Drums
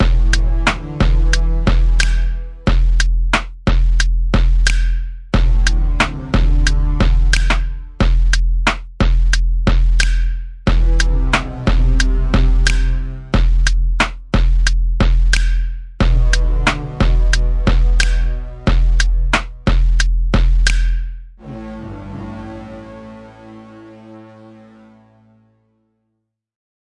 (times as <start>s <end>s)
0.0s 21.2s